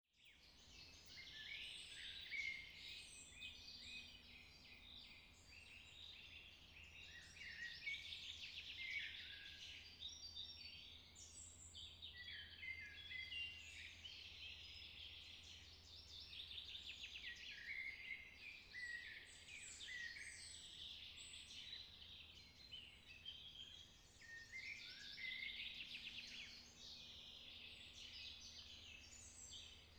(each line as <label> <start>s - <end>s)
birdsong 0.2s - 29.9s